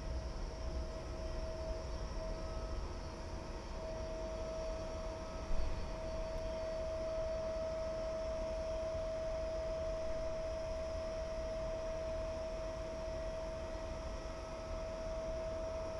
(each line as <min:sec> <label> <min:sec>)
0:04.8 Passenger and cargo trains 0:06.8